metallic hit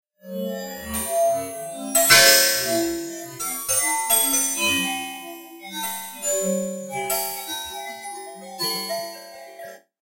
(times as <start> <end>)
2.0 3.0